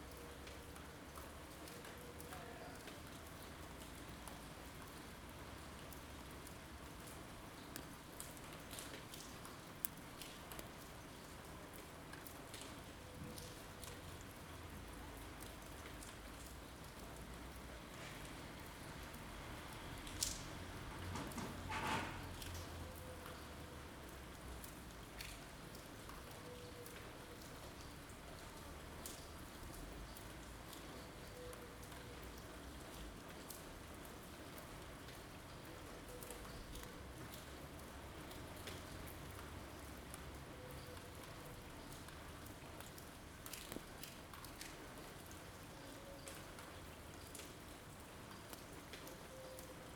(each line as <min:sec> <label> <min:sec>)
0:00.0 Rain 0:49.9